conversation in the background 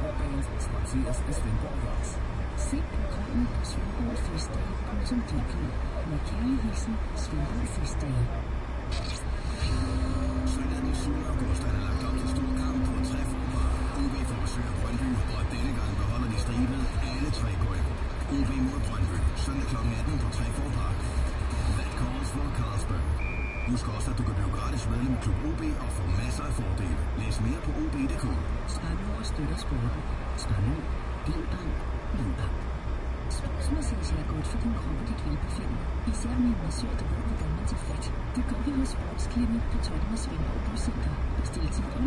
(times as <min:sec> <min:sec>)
0:00.0 0:32.6